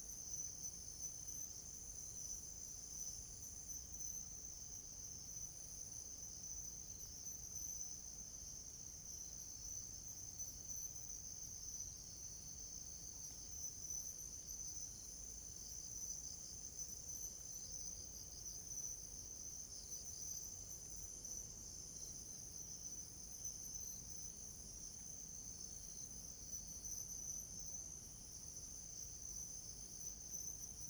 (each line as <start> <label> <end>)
0.1 Insects sound 30.8